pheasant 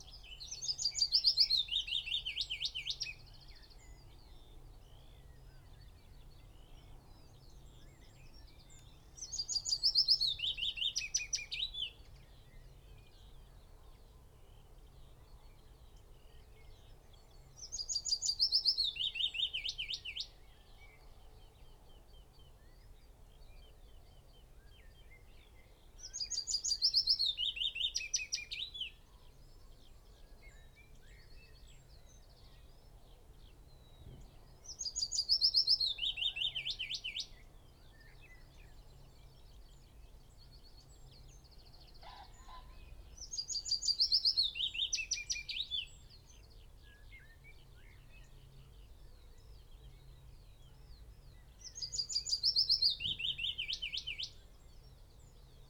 0:41.7 0:45.7

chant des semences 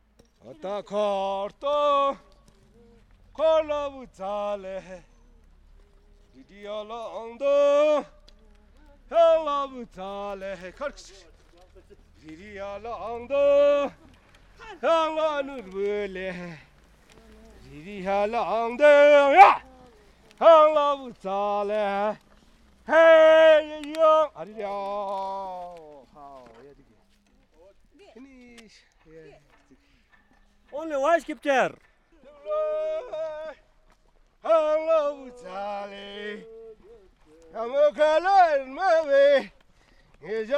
0:00.4 0:05.2, 0:05.9 0:08.2, 0:08.8 0:11.0, 0:12.2 0:14.0, 0:17.2 0:19.8, 0:22.8 0:25.9, 0:34.4 0:39.5

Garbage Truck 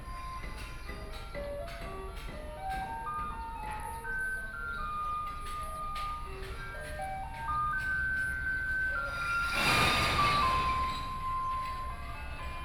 0:06.7 0:12.6

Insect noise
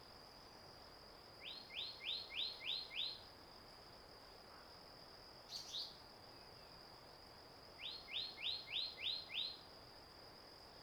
0:05.4 0:06.7

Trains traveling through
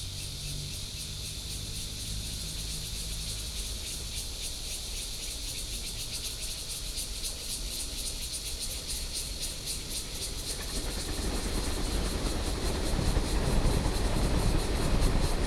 0:08.2 0:15.4

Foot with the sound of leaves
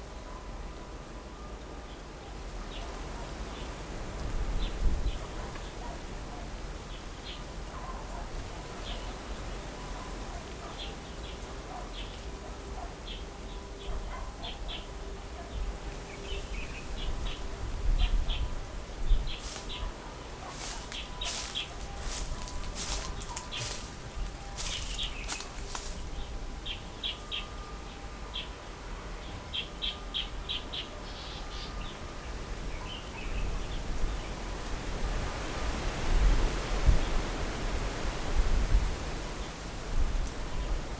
0:13.7 0:28.2, 0:34.0 0:40.9

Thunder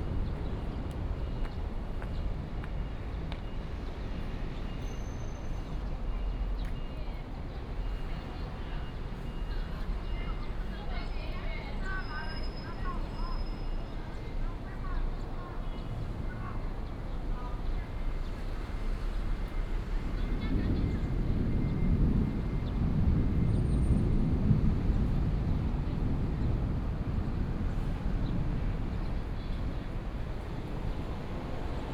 0:20.0 0:28.6

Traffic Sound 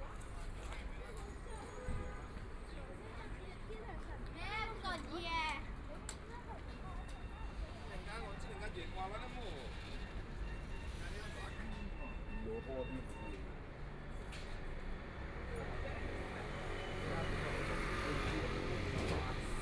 0:13.4 0:19.6

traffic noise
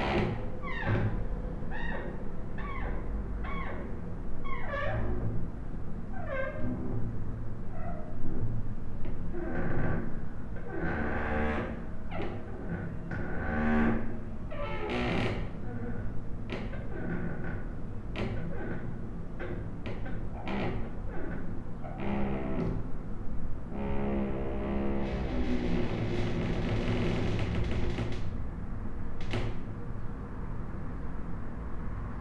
0:27.6 0:32.2

